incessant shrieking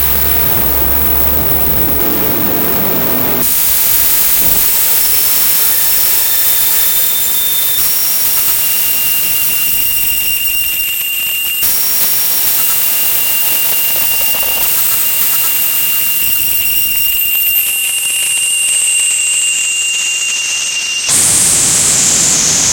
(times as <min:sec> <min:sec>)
0:00.0 0:03.5